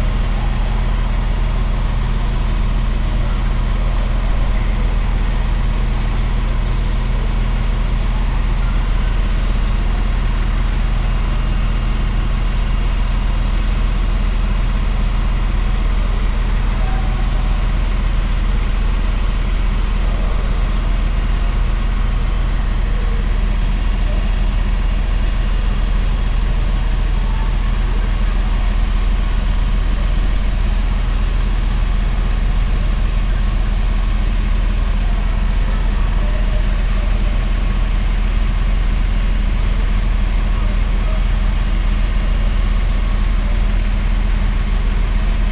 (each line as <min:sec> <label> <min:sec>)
0:00.0 regio train departure 0:45.5